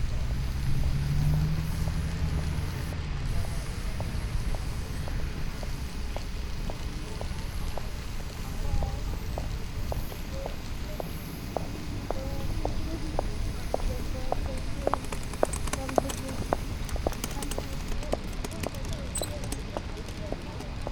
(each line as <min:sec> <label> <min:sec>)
0:00.0 nearby tram loop 0:20.9
0:00.0 painting a zebra crossing with spray paint 0:20.9
0:14.0 shaking the cans 0:20.9